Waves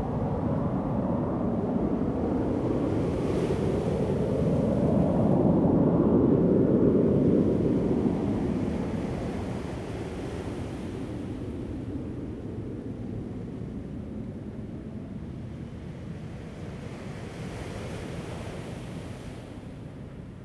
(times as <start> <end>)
15.6 20.4